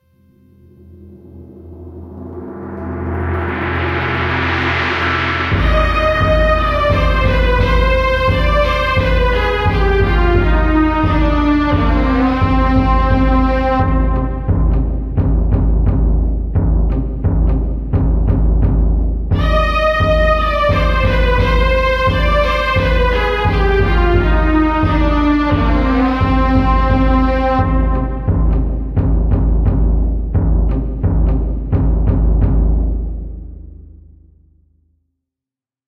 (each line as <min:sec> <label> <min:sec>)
0:00.9 timpan beat 0:34.0
0:01.0 piticcato 0:32.9